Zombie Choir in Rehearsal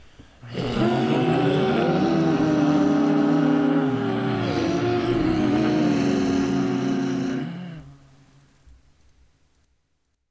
0.4s 8.4s

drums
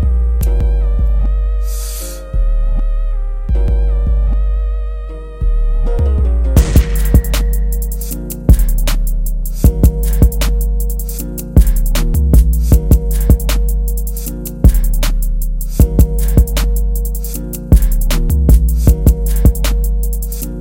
6.5s 20.6s

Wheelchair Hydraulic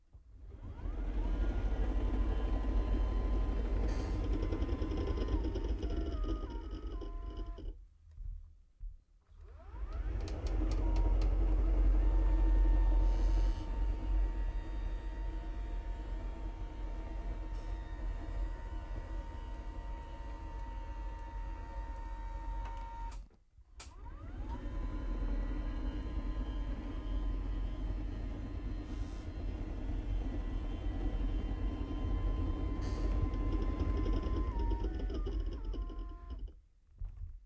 28.0s 36.5s

